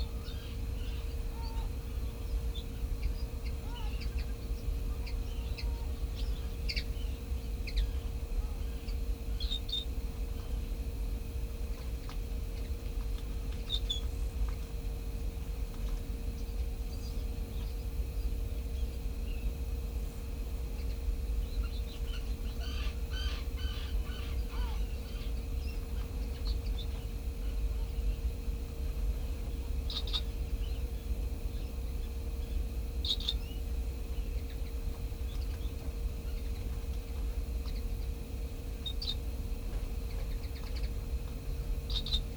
0.0s curlew 10.6s
0.0s common tern 10.7s
0.0s barn swallow nest 42.3s
20.7s curlew 28.2s
20.7s common tern 28.3s
29.4s common tern 39.3s
39.9s common tern 42.3s

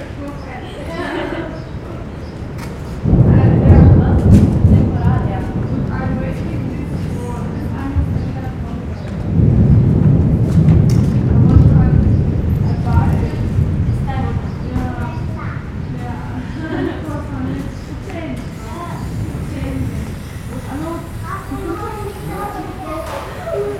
0.0s People gathering in front the covered entrance 23.7s
0.0s rain 23.7s

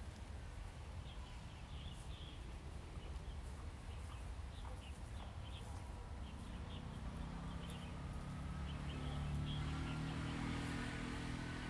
0.0s Wind 11.6s

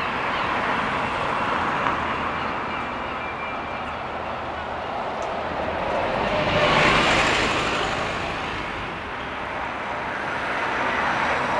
0.0s scheduled buses that pass in front of the City Hall 11.5s

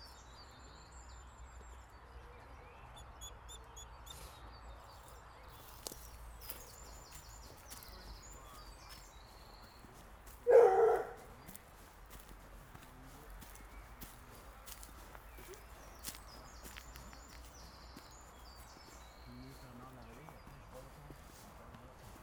5.6s others small dogs are following 22.2s
10.2s Dogs barking 11.6s

